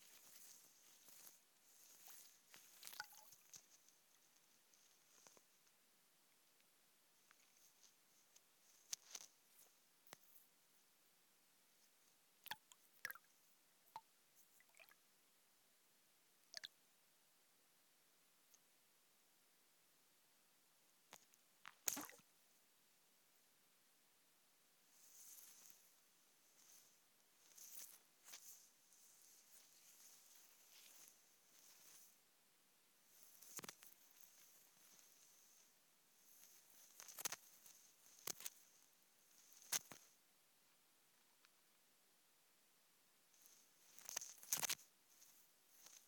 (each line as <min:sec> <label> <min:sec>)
0:02.8 Drips and splashes from the microphone landing in the water 0:03.6
0:21.8 Drips and splashes from the microphone landing in the water 0:22.2